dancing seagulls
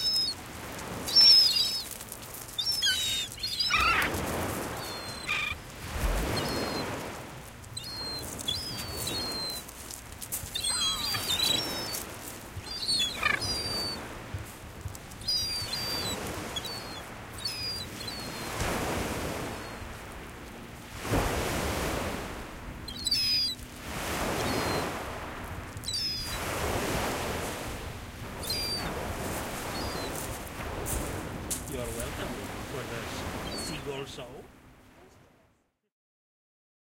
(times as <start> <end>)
0.0 14.2, 14.9 19.9, 22.9 23.6, 24.2 25.1, 25.8 27.0, 28.4 31.1, 31.9 34.3